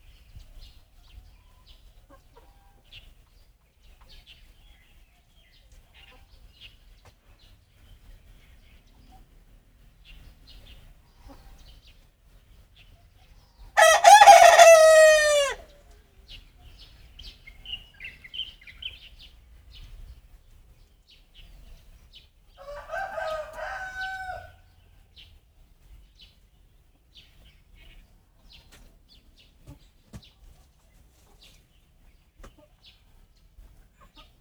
Birds singing 0:00.0 - 0:34.4
Crowing sounds 0:13.8 - 0:15.8
Crowing sounds 0:22.6 - 0:24.6

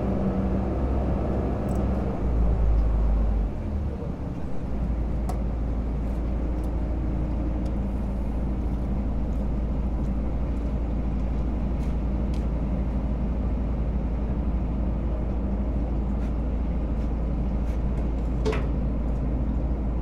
Car and passenger ferry 0:00.0 - 0:20.0

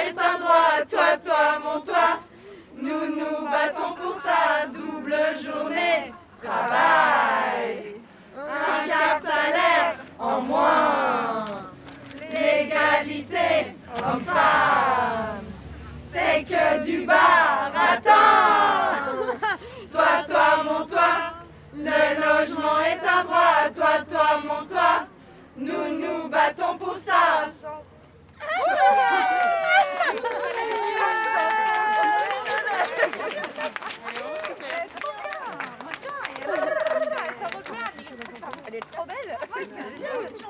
text sung by women 0:00.0 - 0:27.9

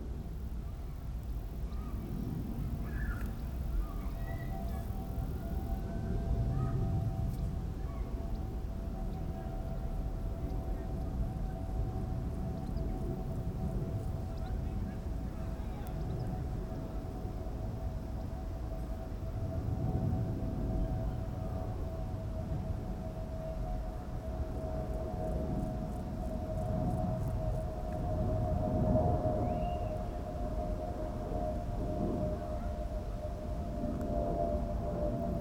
Air traffic noise 0:00.0 - 0:35.4
windy 0:00.0 - 0:35.4

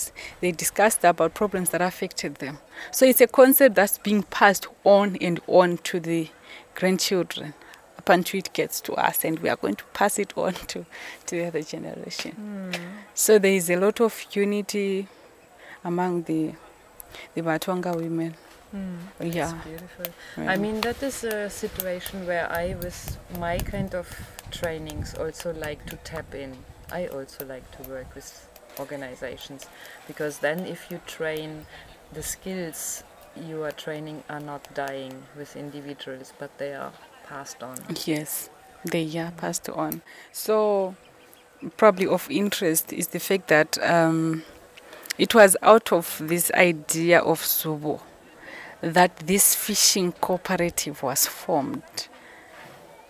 midday breeze 0:16.4 - 0:36.6

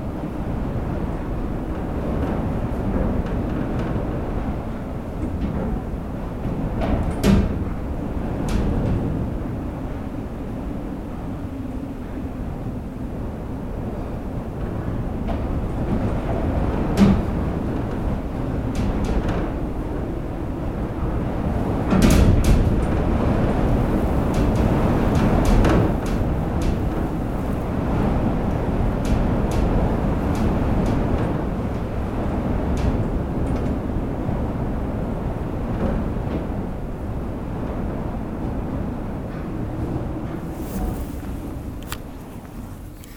horrible cold wind 0:00.0 - 0:43.1

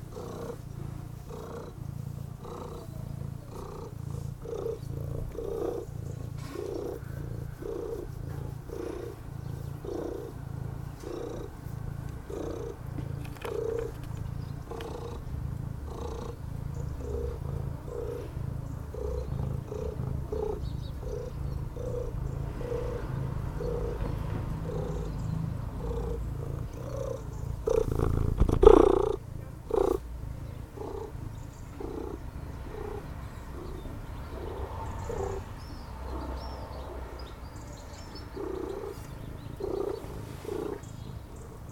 birds 0:00.0 - 0:41.7
neighbours cleaning their terrasse 0:00.0 - 0:41.7
tomcat purring 0:00.0 - 0:41.7
car passing by 0:21.4 - 0:28.0
car passing by 0:32.2 - 0:39.3

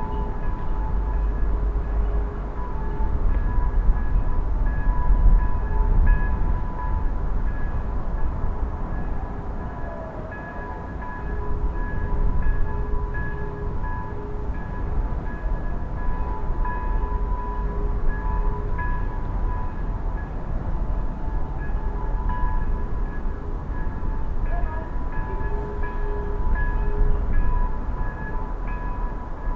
Distant city 0:00.0 - 0:29.5
bells 0:00.0 - 0:29.5
sirens 0:00.0 - 0:29.5

